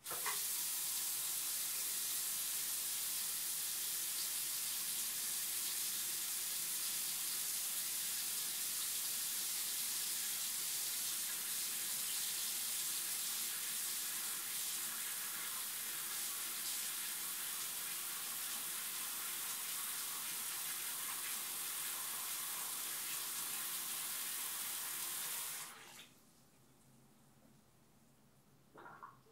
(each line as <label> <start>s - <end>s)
Faucet On/Off Far 0.0s - 1.3s